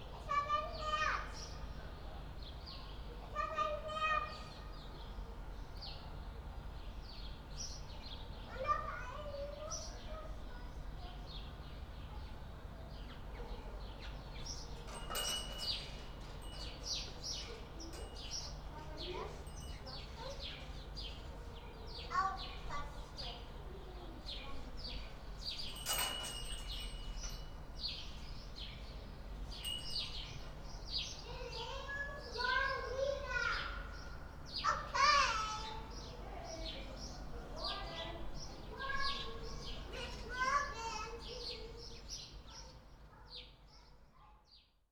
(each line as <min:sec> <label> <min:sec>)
0:00.0 kids communicating across the backyard 0:44.9